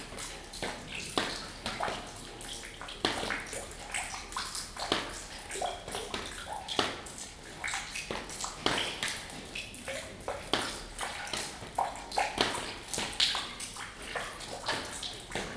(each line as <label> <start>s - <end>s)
Water drops falling into an empty bucket and on the floor 0.0s - 15.5s